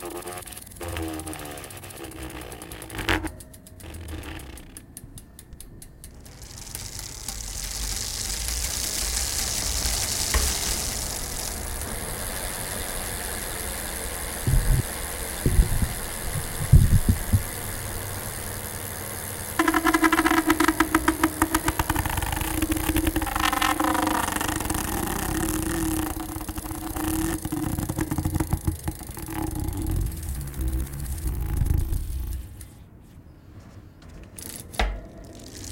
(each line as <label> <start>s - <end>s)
bike tire scrapped while spinning 0.0s - 3.3s
gears 0.0s - 32.8s
bike tire scrapped while spinning 6.3s - 17.6s
bike tire scrapped while spinning 19.6s - 32.7s
gears 34.1s - 35.7s